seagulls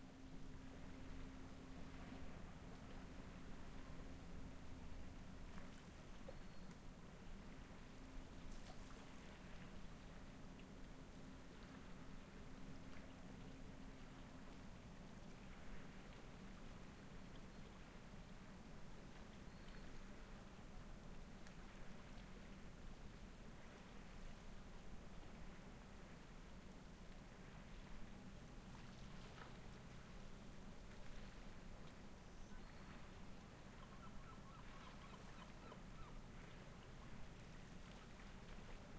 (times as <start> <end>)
33.7 36.2